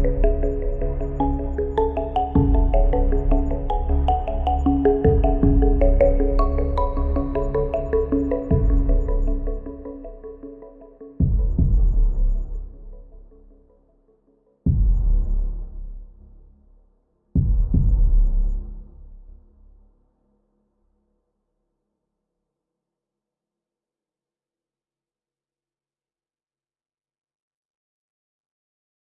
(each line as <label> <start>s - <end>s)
haunting melodies 0.0s - 11.2s
synth 0.0s - 13.5s
powerful bass sound 2.4s - 3.8s
powerful bass sound 5.0s - 7.4s
powerful bass sound 8.5s - 9.2s
powerful bass sound 17.4s - 19.0s